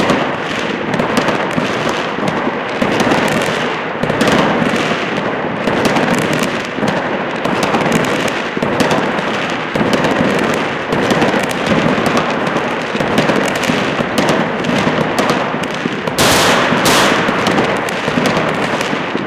0.0s fireworks 19.2s

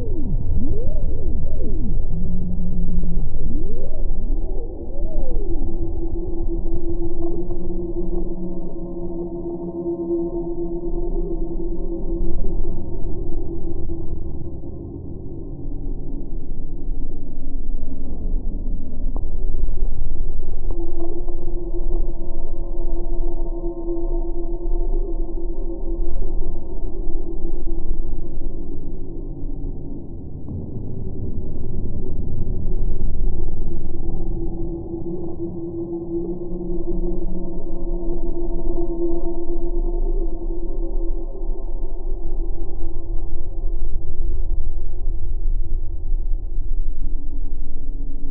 0.0s drone 48.3s

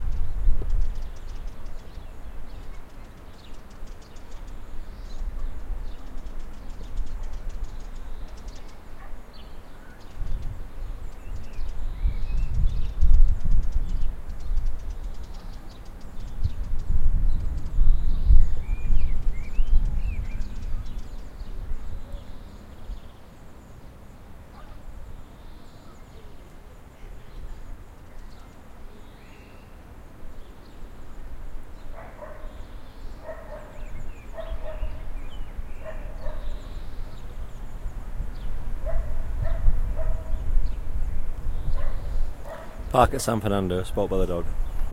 9.0s Dog barking 9.2s
31.9s Dog barking 32.6s
33.2s Dog barking 35.0s
35.8s Dog barking 36.6s
38.8s Dog barking 40.4s
41.8s Dog barking 42.8s

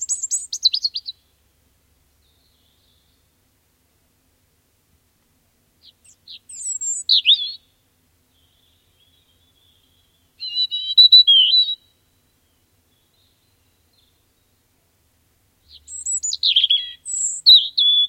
0.0s Robin, redbreast, clear song 4.1s
5.6s Robin, redbreast, clear song 18.0s

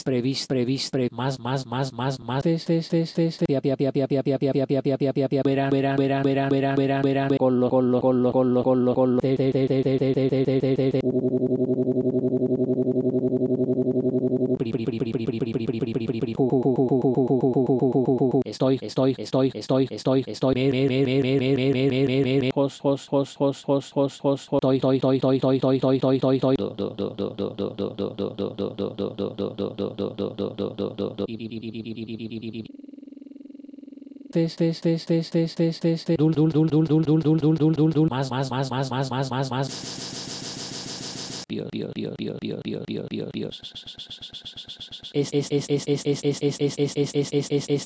0.0s rapping 11.0s
14.6s rapping 32.7s
34.4s rapping 39.8s
41.5s rapping 47.8s

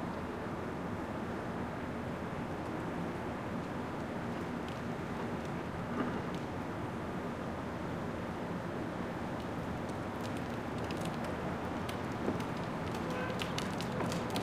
8.7s cart with plastic wheels on asphalt 14.4s

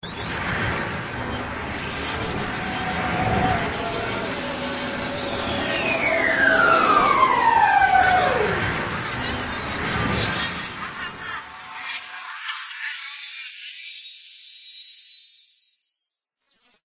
1.7s scream 14.3s

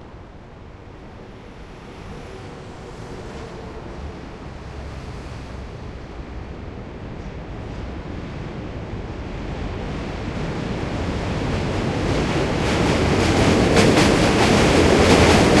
0.0s traffic 12.6s
0.0s subway train passby 15.6s

